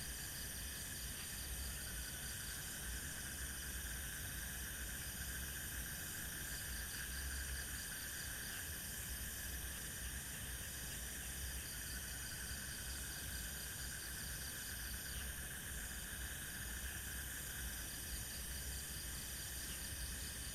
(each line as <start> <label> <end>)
0.0 crickets 20.5
0.0 frogs 20.5